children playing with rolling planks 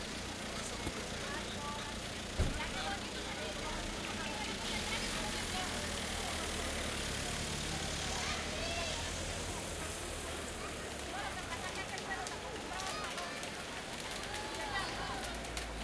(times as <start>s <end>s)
10.9s 15.8s